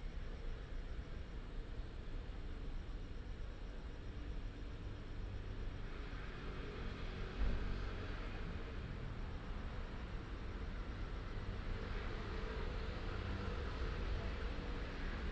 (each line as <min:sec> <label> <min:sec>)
0:05.8 traffic sound 0:15.3